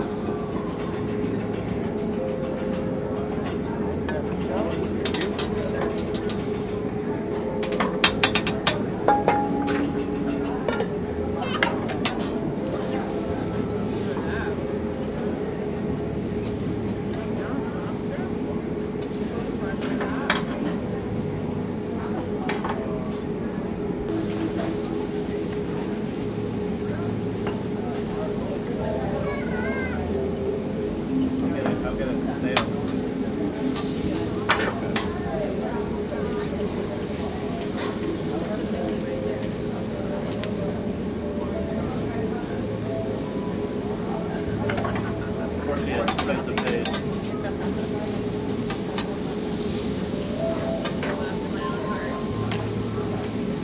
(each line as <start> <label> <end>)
30.3 flames 50.4